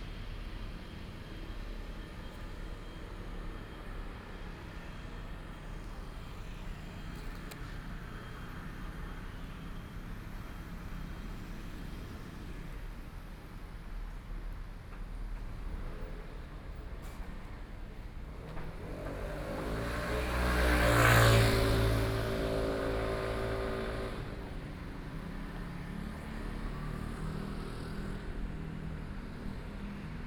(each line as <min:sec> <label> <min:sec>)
0:00.4 walking in the Street 0:30.2